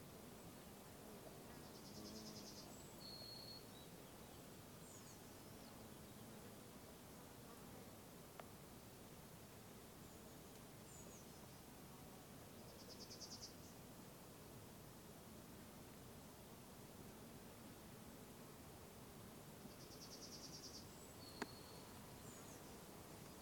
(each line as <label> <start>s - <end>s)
insects 0.1s - 23.4s
Birds 19.6s - 23.4s